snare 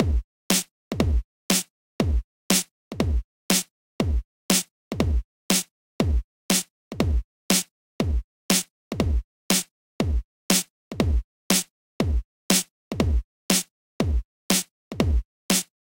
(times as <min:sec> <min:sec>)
0:00.5 0:00.7, 0:01.5 0:01.7, 0:02.5 0:02.7, 0:03.5 0:03.7, 0:04.5 0:04.7, 0:05.5 0:05.7, 0:06.5 0:06.7, 0:07.5 0:07.7, 0:08.5 0:08.7, 0:09.5 0:09.7, 0:10.5 0:10.7, 0:11.5 0:11.7, 0:12.5 0:12.7, 0:13.5 0:13.7, 0:14.5 0:14.7, 0:15.5 0:15.7